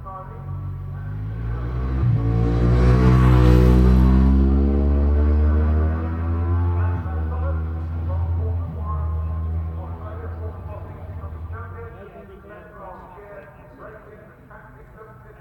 superbikes 0.5 - 12.0

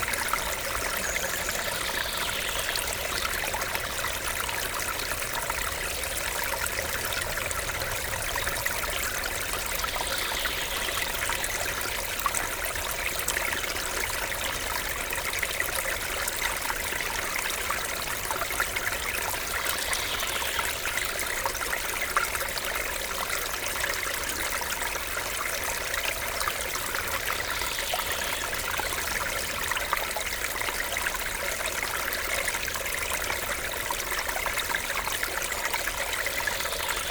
birds 0.0 - 12.3
small stream 0.0 - 37.1

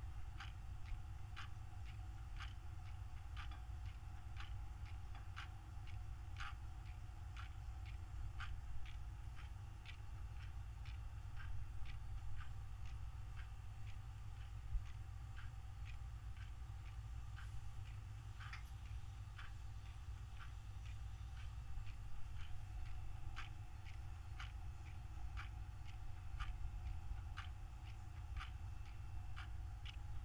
Clock 0.0 - 30.2

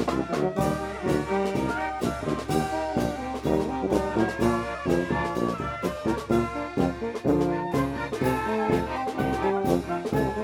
fanfare in playing in the street 0.0 - 10.4

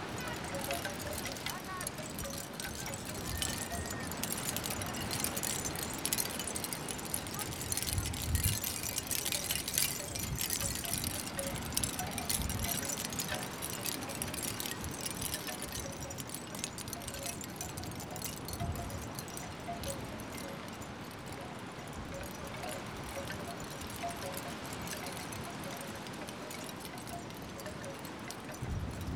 wooden and shell wind bells winging in the strong wind 0.0 - 29.1

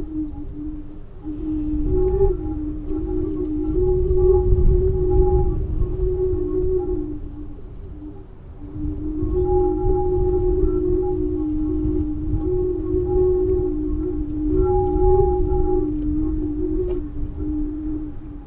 wind blowing through open ends of steel tubes in farm gate 0.0 - 18.4

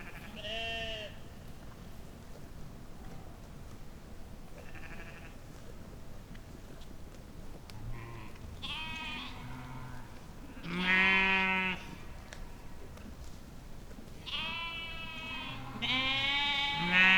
sheep 4.5 - 6.8
sheep 7.7 - 17.1

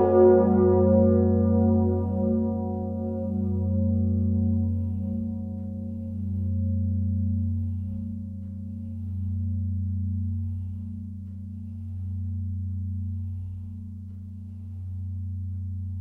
big bell 0.0 - 16.0

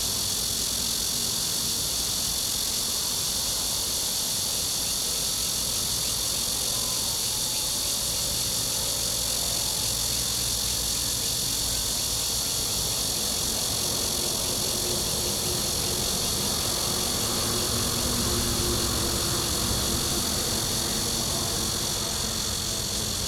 Cicadas 0.0 - 23.2
train running through 0.0 - 23.2
Traffic sound 12.4 - 23.2
Garbage truck passes 13.2 - 23.2

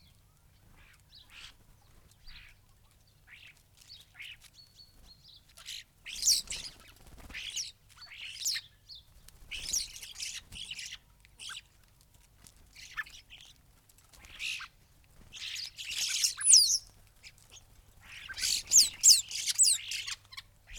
blackbird 0.0 - 11.8
starlings on bird feeders 0.0 - 11.8
background noise 0.0 - 20.7
greenfinch 3.2 - 8.7
greenfinch 9.5 - 11.7
starlings on bird feeders 12.6 - 20.7
blackbird 12.7 - 13.6
blackbird 14.2 - 20.7
greenfinch 14.2 - 20.7

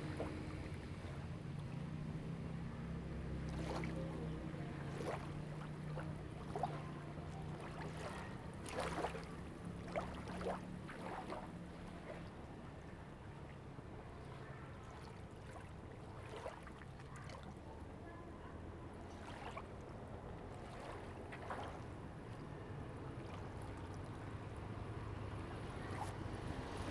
Waves and tides 0.0 - 26.9

